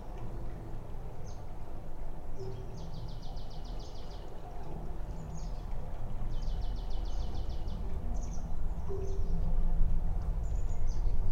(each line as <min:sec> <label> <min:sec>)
0:00.0 river 0:11.3